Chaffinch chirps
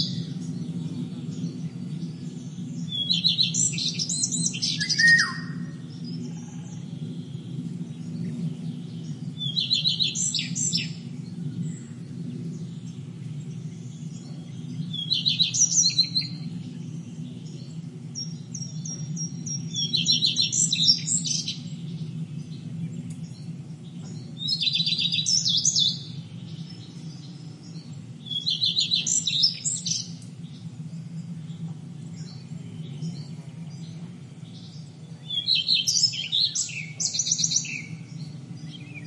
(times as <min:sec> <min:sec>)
0:02.8 0:05.7, 0:18.2 0:21.7, 0:24.4 0:30.2, 0:34.5 0:39.0